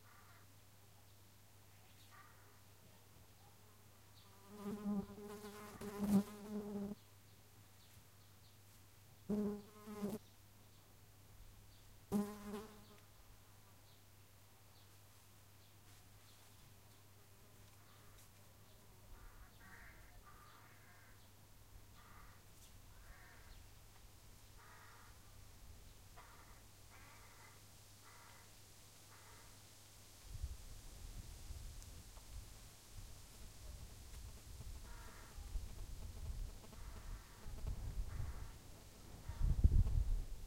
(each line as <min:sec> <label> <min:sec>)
0:00.0 crows on the tree 0:00.6
0:00.0 farm sounds very distant 0:10.9
0:01.7 crows on the tree 0:03.6
0:04.2 fly is flying near the mic 0:07.0
0:09.3 fly is flying near the mic 0:10.2
0:11.6 farm sounds very distant 0:29.7
0:12.1 fly is flying near the mic 0:13.1
0:16.4 crows on the tree 0:25.4
0:26.1 crows on the tree 0:29.7
0:32.1 farm sounds very distant 0:40.4
0:33.0 fly is flying near the mic 0:40.4
0:33.3 crows on the tree 0:39.6